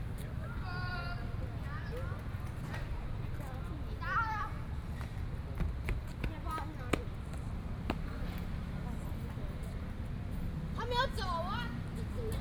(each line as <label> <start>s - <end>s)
Traffic Sound 4.3s - 12.4s